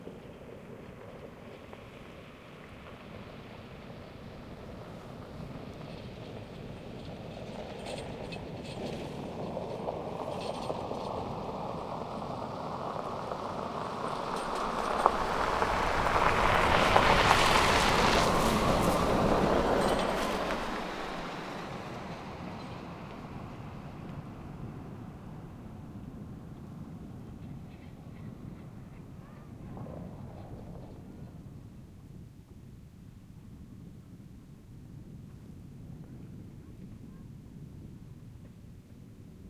0.0s truck pickup pass slow gravel crunchy snow 28.5s

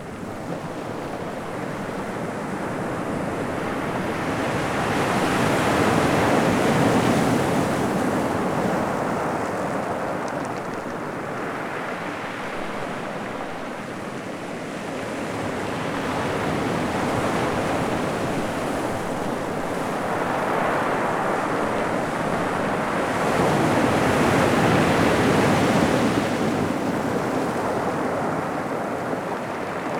0.0s windy 14.8s

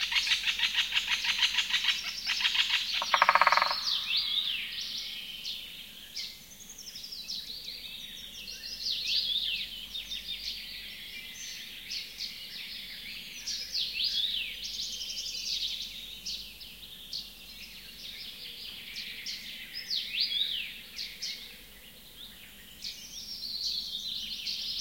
0.0s woodpecker 4.6s
0.0s Birdsong 24.8s

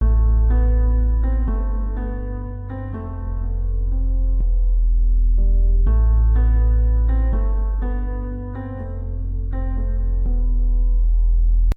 0.0s piano 11.7s

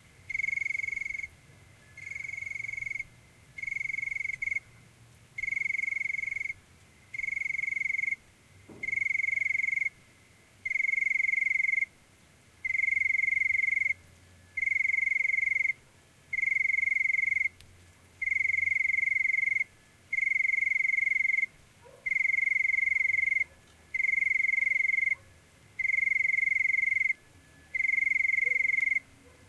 0.0s lonely cricket chirps softly 29.4s
21.8s Dog barkings in background 22.3s
24.7s Dog barkings in background 25.4s
28.4s Dog barkings in background 29.4s

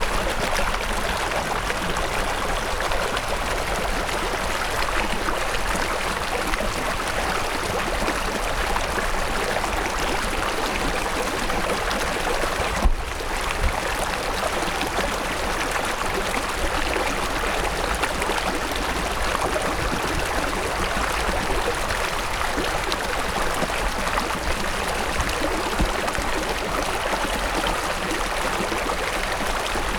0.0s flowing mountain river water 29.9s

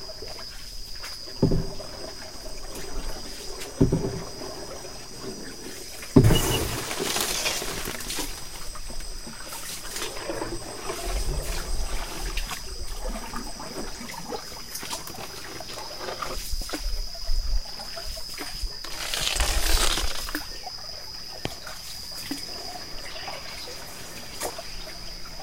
0.0s indio-canoe riding through the flooded rainforest 25.4s

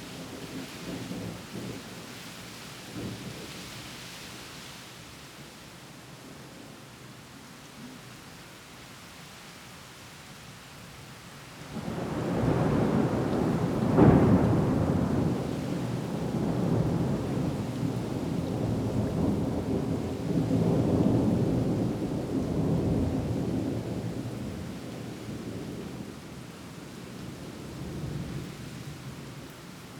0.0s rain 29.9s
11.8s thunder 26.0s

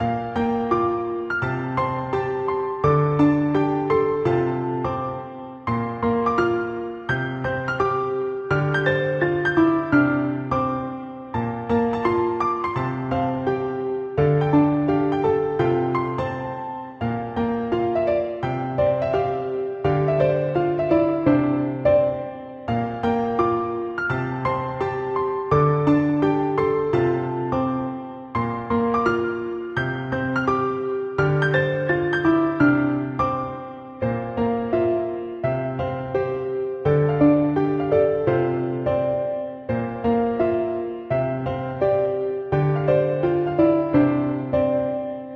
0.0s layered piano notes 45.3s

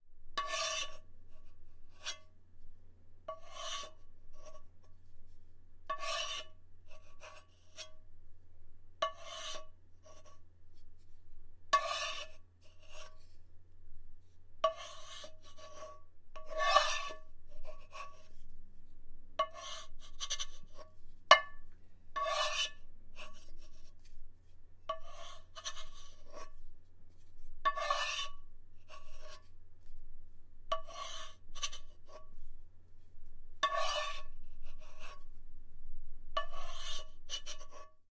5.9s Wooden spatula running around the interior of a frying pan 6.5s
11.7s Wooden spatula running around the interior of a frying pan 13.4s
14.6s Wooden spatula running around the interior of a frying pan 18.5s
21.3s Wooden spatula running around the interior of a frying pan 29.5s
30.7s Wooden spatula running around the interior of a frying pan 32.2s
33.6s Wooden spatula running around the interior of a frying pan 35.2s

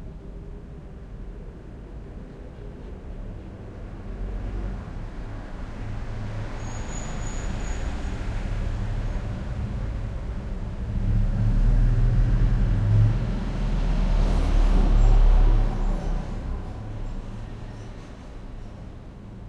0.0s resonant throaty bassy traffic passing by through open windows 19.4s

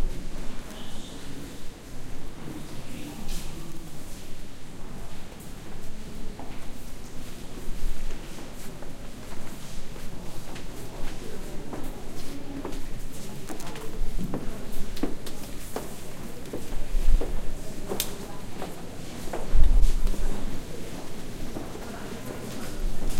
7.2s Footsteps 23.1s

